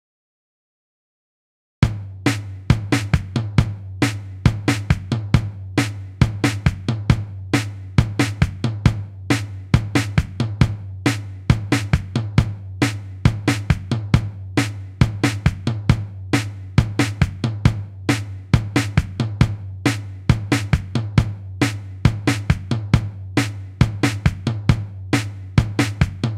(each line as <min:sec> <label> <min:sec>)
0:01.8 drum 0:26.3